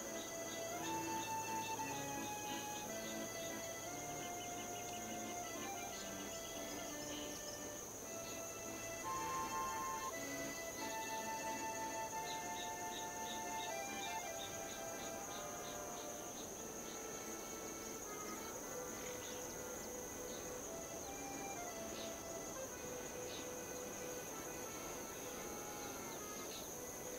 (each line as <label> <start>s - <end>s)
accordion 0.0s - 27.1s